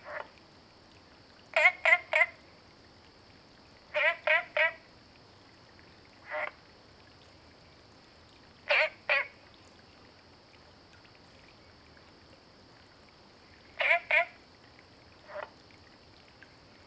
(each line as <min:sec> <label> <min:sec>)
0:01.6 Frogs chirping 0:02.4
0:03.9 Frogs chirping 0:04.8
0:06.2 Frogs chirping 0:06.6
0:08.7 Frogs chirping 0:09.4
0:13.4 Frogs chirping 0:14.4
0:15.2 Frogs chirping 0:15.6